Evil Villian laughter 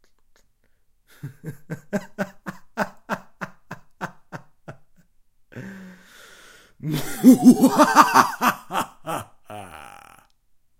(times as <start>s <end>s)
6.9s 10.2s